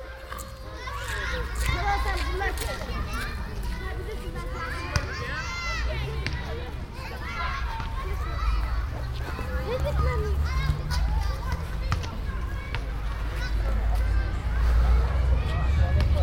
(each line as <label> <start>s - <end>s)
kids play 0.0s - 16.2s
voices 0.0s - 16.2s